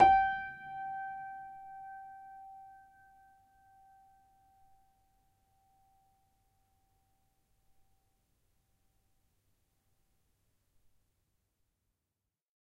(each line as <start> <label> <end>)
0.0 upright choiseul piano 4.8